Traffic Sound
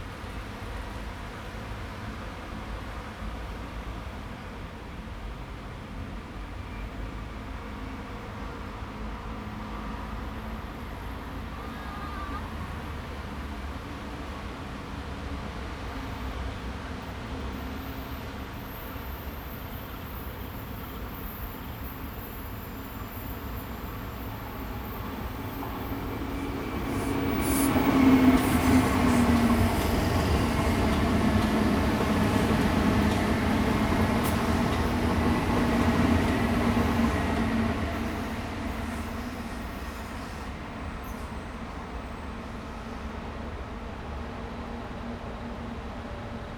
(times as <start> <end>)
23.2 42.2